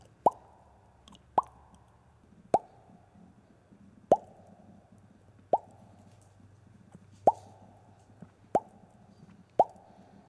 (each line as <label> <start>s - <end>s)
Bubble bursting, popping 0.0s - 0.6s
Bubble bursting, popping 1.4s - 1.7s
Bubble bursting, popping 2.5s - 2.9s
Bubble bursting, popping 4.1s - 4.5s
Bubble bursting, popping 5.5s - 5.8s
Bubble bursting, popping 8.6s - 8.8s
Bubble bursting, popping 9.6s - 9.9s